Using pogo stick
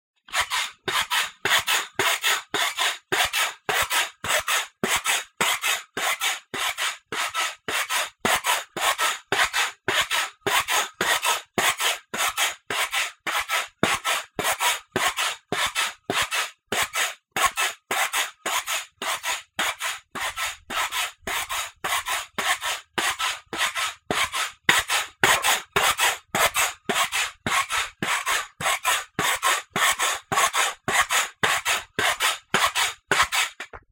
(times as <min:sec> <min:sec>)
0:12.4 0:33.9